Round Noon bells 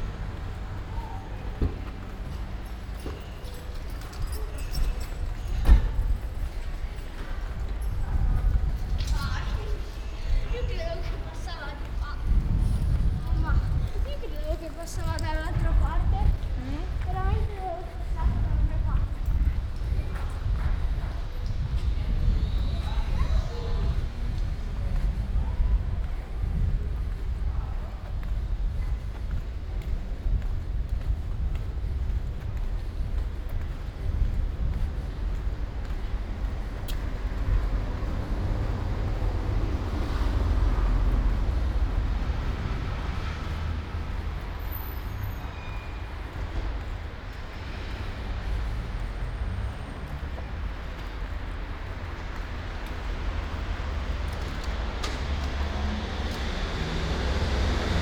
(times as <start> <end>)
1.9 8.4